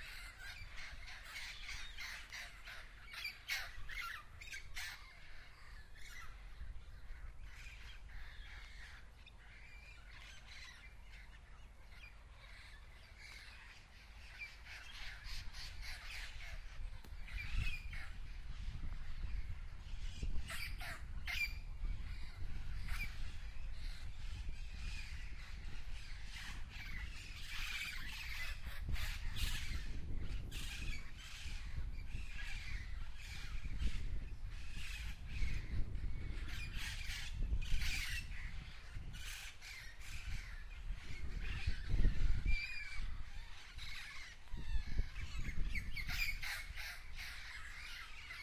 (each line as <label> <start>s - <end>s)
wind noise 0.0s - 48.4s